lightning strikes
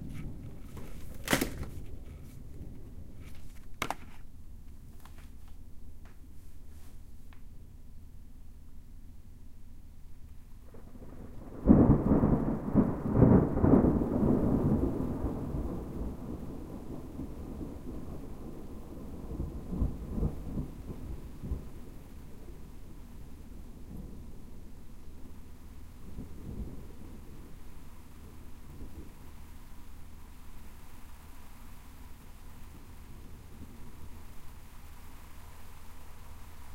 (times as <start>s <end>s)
10.7s 36.7s